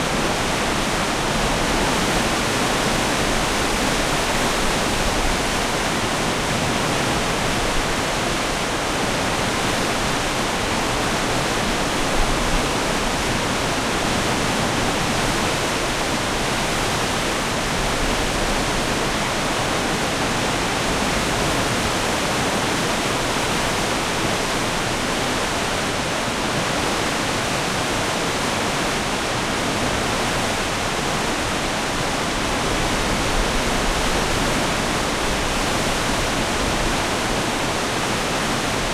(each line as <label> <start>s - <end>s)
water waterfall large heavy int gushing 0.0s - 38.9s